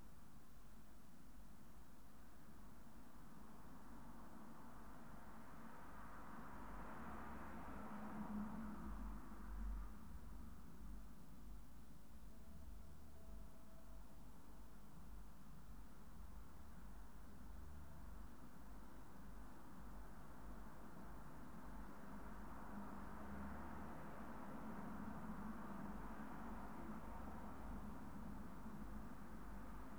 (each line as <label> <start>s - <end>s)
mild urban noise 1.4s - 29.9s